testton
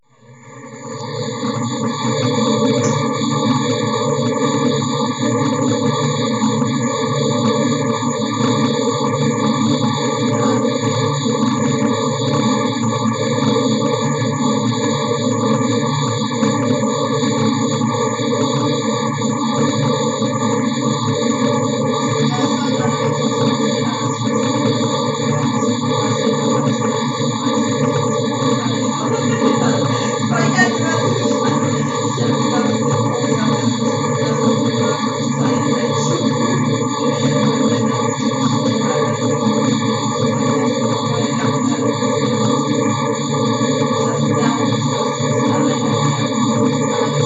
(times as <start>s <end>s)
22.0s 40.2s